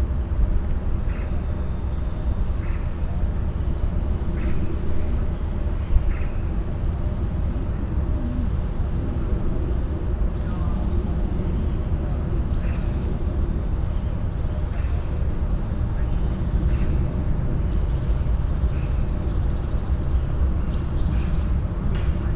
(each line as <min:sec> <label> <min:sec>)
0:10.4 voices in the garden 0:19.1